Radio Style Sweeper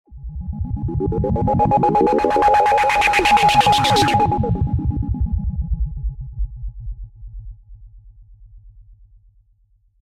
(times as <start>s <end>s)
1.2s 4.6s